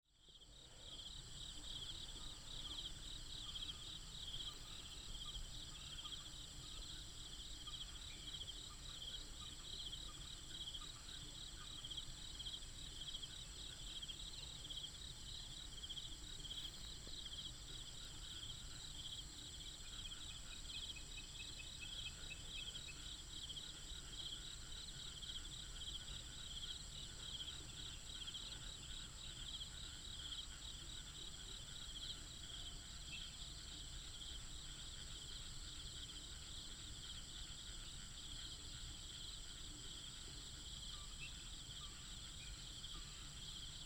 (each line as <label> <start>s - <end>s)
Frogs 0.1s - 43.8s
Insects 0.1s - 43.8s